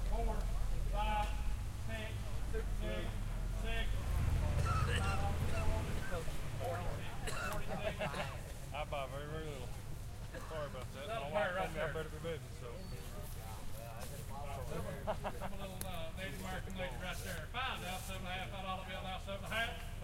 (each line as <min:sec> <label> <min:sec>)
0:00.0 cars drive by 0:09.0